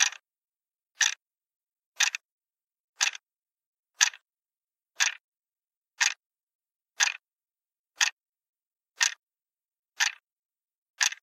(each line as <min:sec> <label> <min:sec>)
0:00.0 plastic alarm clock clicking 0:00.2
0:00.9 plastic alarm clock clicking 0:01.2
0:01.9 plastic alarm clock clicking 0:02.3
0:02.9 plastic alarm clock clicking 0:03.3
0:03.9 plastic alarm clock clicking 0:04.3
0:04.9 plastic alarm clock clicking 0:05.2
0:06.0 plastic alarm clock clicking 0:06.2
0:06.9 plastic alarm clock clicking 0:07.2
0:07.9 plastic alarm clock clicking 0:08.2
0:08.9 plastic alarm clock clicking 0:09.2
0:09.9 plastic alarm clock clicking 0:10.3
0:11.0 plastic alarm clock clicking 0:11.2